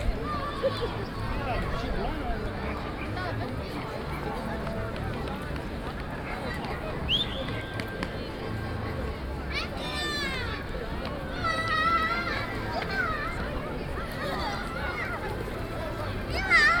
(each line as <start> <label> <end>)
0.0 children 2.3
0.0 people 16.8
8.4 children 16.8